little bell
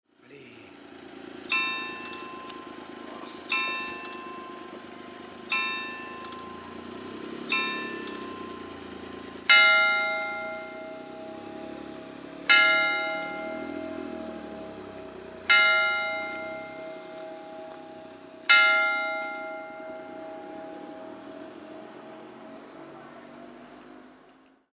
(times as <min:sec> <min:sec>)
0:01.5 0:02.8, 0:03.5 0:04.8, 0:05.5 0:06.8, 0:07.5 0:08.7, 0:09.5 0:11.6, 0:15.5 0:21.2